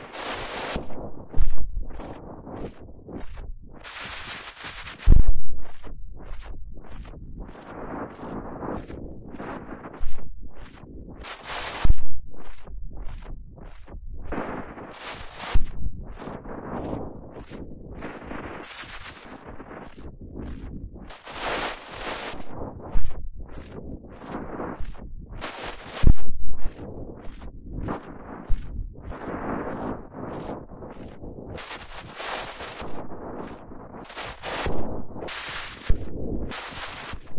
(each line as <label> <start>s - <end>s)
Noise bursts with some filtering 0.0s - 37.3s